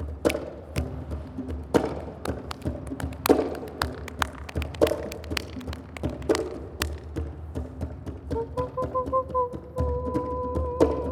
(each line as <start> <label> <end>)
0.0 Darbuka 11.1
8.3 Ocarina 11.1